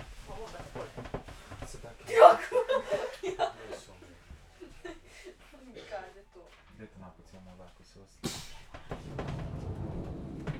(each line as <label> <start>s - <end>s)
train 8.3s - 10.5s